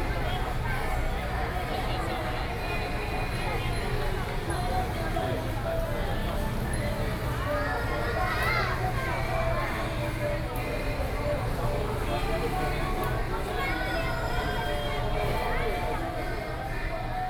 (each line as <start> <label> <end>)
0.0 Various shops sound 17.2